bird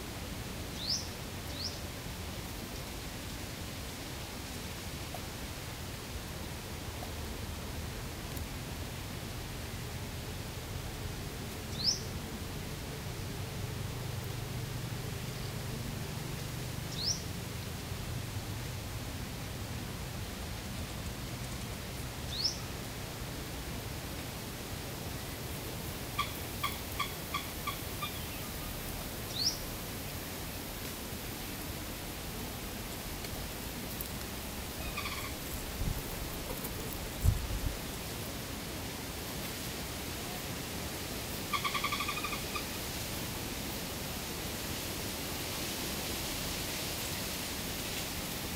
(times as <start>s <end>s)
34.8s 35.4s